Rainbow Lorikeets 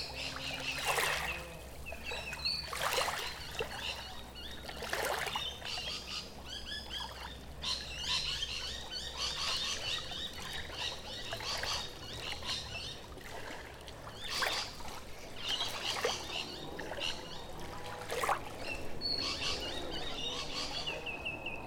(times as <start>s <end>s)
0.0s 13.0s